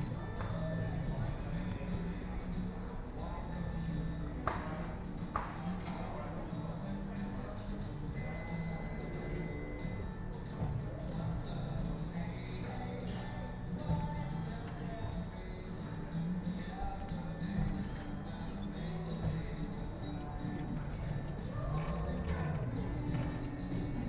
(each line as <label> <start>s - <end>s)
voices 0.0s - 24.0s